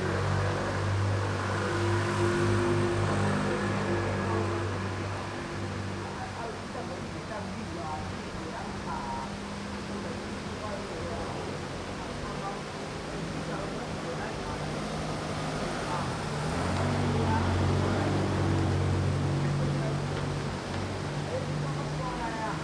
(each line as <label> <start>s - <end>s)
Traffic Sound 0.0s - 6.2s
water streams 0.0s - 22.6s
Traffic Sound 13.2s - 22.6s